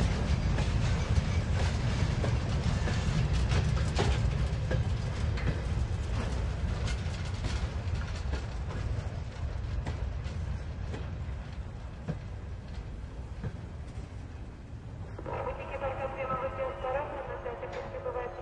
0.0s train passes slowly and brakes 18.4s

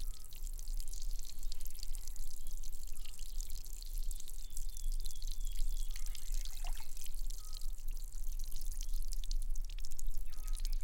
0.0s small fountain 10.8s
10.2s birds 10.8s

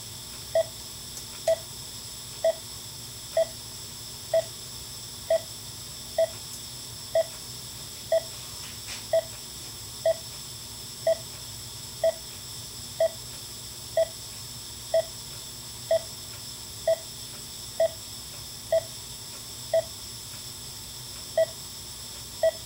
0.0s Pulse Monitor 1.7s
2.4s Pulse Monitor 2.7s
3.3s Pulse Monitor 3.6s
4.3s Pulse Monitor 4.6s
5.2s Pulse Monitor 7.4s
8.1s Pulse Monitor 8.4s
9.1s Pulse Monitor 9.4s
10.0s Pulse Monitor 10.4s
11.0s Pulse Monitor 11.4s
12.0s Pulse Monitor 13.3s
13.9s Pulse Monitor 14.2s
14.9s Pulse Monitor 17.2s
17.8s Pulse Monitor 18.0s
18.7s Pulse Monitor 19.0s
19.7s Pulse Monitor 20.0s
21.3s Pulse Monitor 21.6s
22.4s Pulse Monitor 22.6s

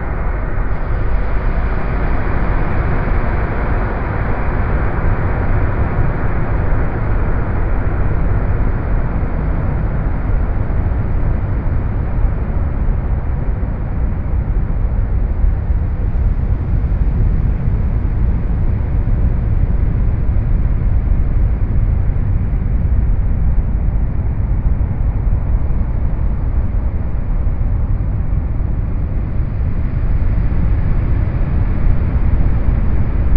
0.0s train tunnel 33.3s

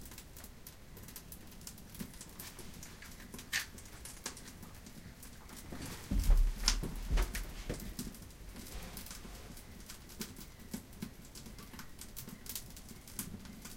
0.0s firewood 13.7s

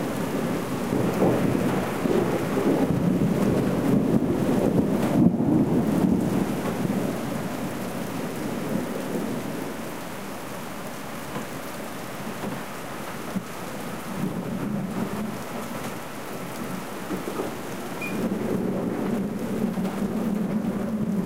0.0s thunder 9.4s
0.0s rain 21.2s
17.0s thunder 21.2s

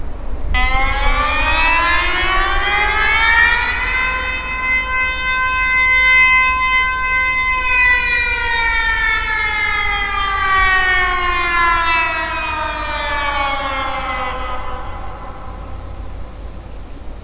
0.5s public alarm test 16.6s

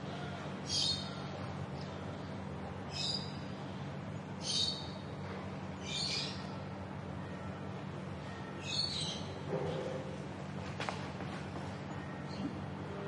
0.0s quiet street ambiance 13.0s
0.0s birds 2.0s
2.9s birds 10.0s

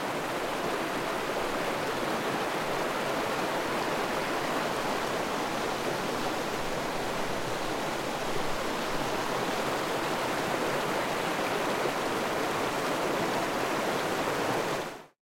0.0s Mountain River 15.2s

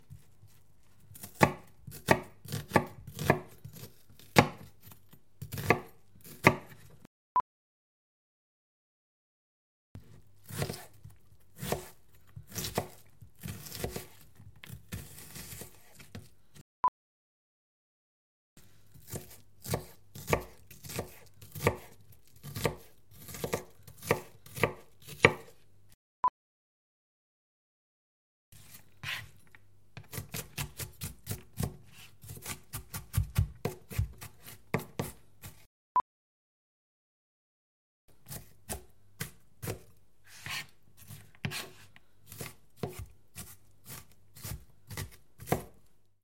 1.1s Chopping onion 7.0s
10.0s Chopping onion 16.3s
18.9s Chopping onion 25.6s
30.0s Chopping onion 35.7s
38.1s Chopping onion 45.9s

